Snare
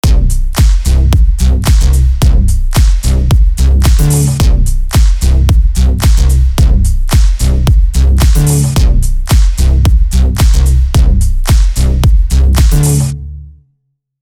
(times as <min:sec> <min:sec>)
0:00.0 0:01.0, 0:01.6 0:05.4, 0:06.0 0:06.4, 0:07.1 0:09.7, 0:10.4 0:13.2